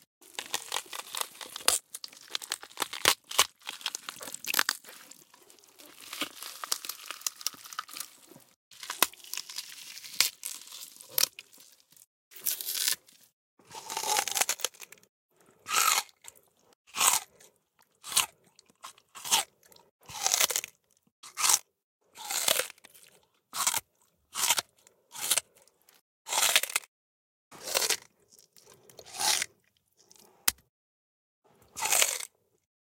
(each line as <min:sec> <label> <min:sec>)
0:00.3 gore gory blood smash flesh murder bone break 0:11.4